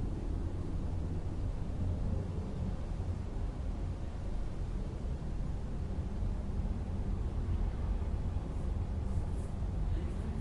urban noise 0.0 - 10.4

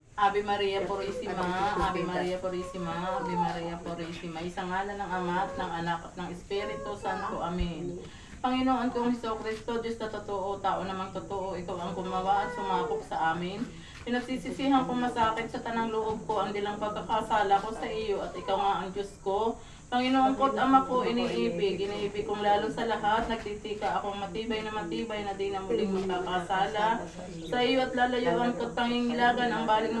ladies were praying 0.0 - 30.0
cicadas 0.0 - 30.0
child 6.6 - 7.5
child 12.3 - 13.1

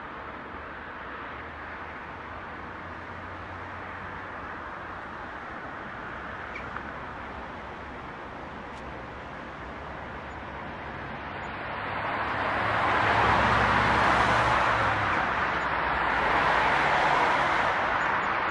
traffic 0.0 - 18.5
tramway 0.0 - 18.5

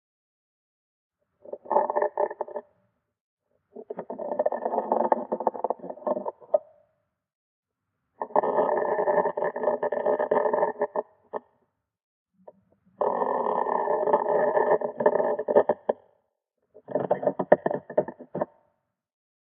Slow wooden creaks 16.8 - 18.6

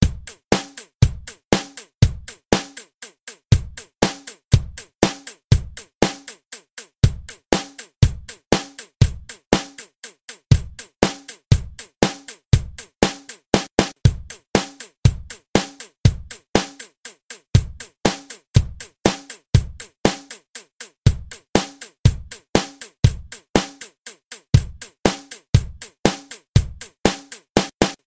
drum pattern 0.0 - 28.0

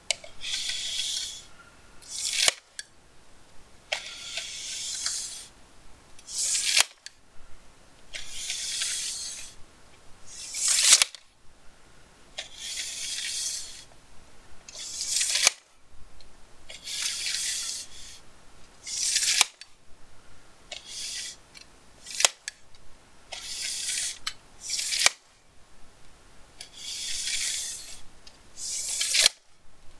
tape measure extending and retracting 0.1 - 2.9
tape measure extending and retracting 3.9 - 5.6
tape measure extending and retracting 6.2 - 7.2
tape measure extending and retracting 8.1 - 9.6
tape measure extending and retracting 10.3 - 11.2
tape measure extending and retracting 12.4 - 14.0
tape measure extending and retracting 14.7 - 15.7
tape measure extending and retracting 16.7 - 18.2
tape measure extending and retracting 18.8 - 19.7
tape measure extending and retracting 20.7 - 22.6
tape measure extending and retracting 23.3 - 25.3
tape measure extending and retracting 26.6 - 29.5

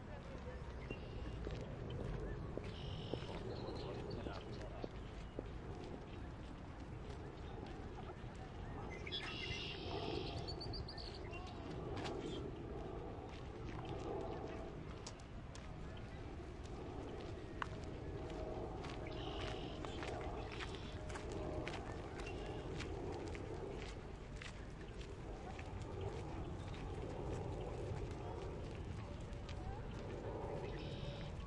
birds 0.3 - 13.1
footsteps 11.3 - 31.4
birds 13.7 - 24.0
birds 29.8 - 31.4

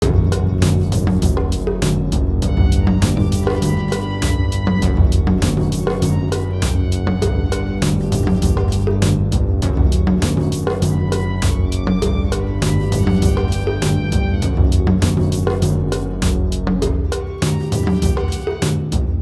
bass synthesizer 0.0 - 19.2
drums 0.0 - 19.2
strings 0.0 - 19.2

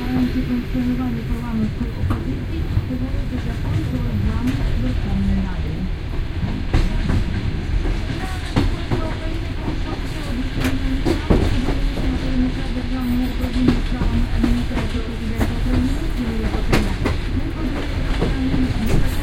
typical klok-klok sound you can hear in trains 0.0 - 19.2

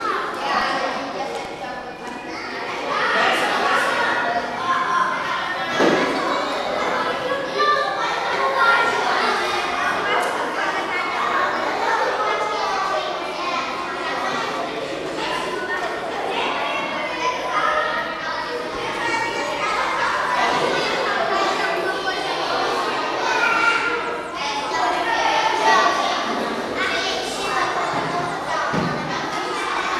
Kids talking on school corridors 0.0 - 29.9

